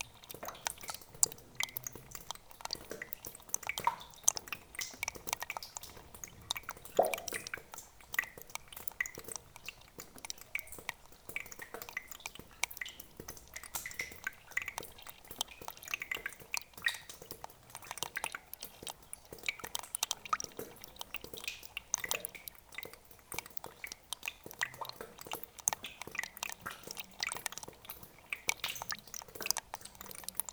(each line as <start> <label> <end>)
0.0 Small stream 30.5